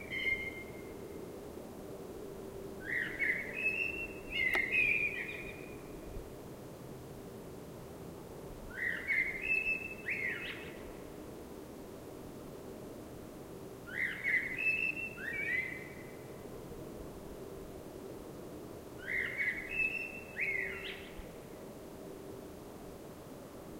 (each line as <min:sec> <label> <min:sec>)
0:02.9 blackbird singing 0:05.8